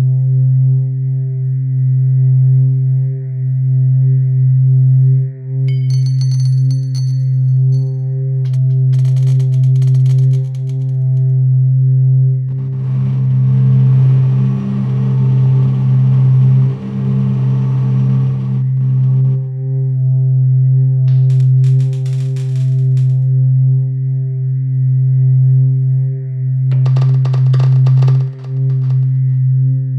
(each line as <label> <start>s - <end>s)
oscillating low frequency tone 8.5s - 29.7s
doors 26.8s - 29.4s